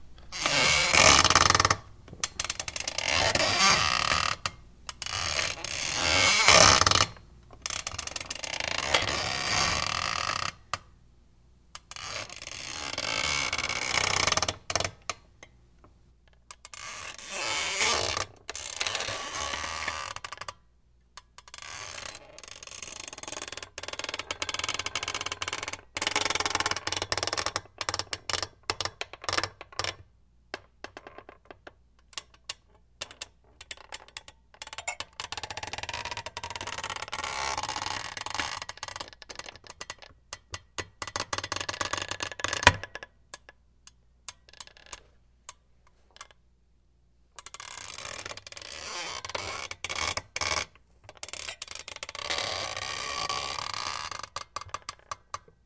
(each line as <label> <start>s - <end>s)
super squeaky office chair 0.3s - 1.8s
super squeaky office chair 2.4s - 10.6s
super squeaky office chair 11.9s - 14.9s
super squeaky office chair 16.6s - 20.5s
super squeaky office chair 21.5s - 27.6s
super squeaky office chair 47.5s - 55.2s